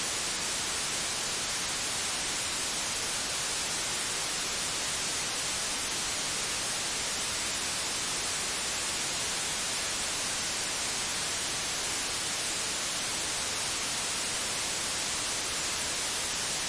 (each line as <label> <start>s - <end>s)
velvet white noise 0.0s - 16.6s